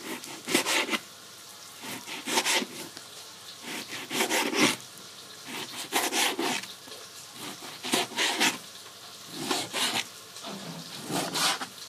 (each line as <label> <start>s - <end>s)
Cutting meat on a synthetic cutting board 0.0s - 1.0s
Cutting meat on a synthetic cutting board 1.8s - 2.8s
Cutting meat on a synthetic cutting board 3.6s - 4.8s
Cutting meat on a synthetic cutting board 5.5s - 6.7s
Cutting meat on a synthetic cutting board 7.4s - 8.6s
Cutting meat on a synthetic cutting board 9.3s - 10.1s
Cutting meat on a synthetic cutting board 11.0s - 11.8s